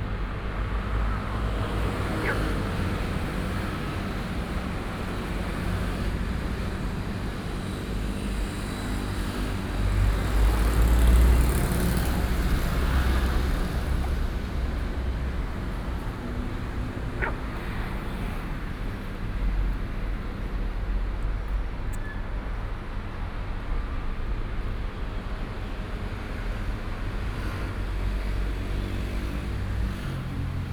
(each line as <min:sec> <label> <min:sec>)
0:00.1 Traffic Sound 0:30.7
0:02.1 Frog sound 0:02.6
0:17.1 Frog sound 0:18.2